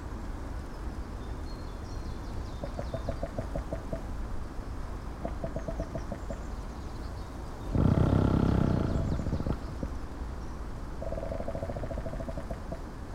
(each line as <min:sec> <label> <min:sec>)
0:07.6 strong wind 0:10.4
0:07.7 creaking trees 0:13.1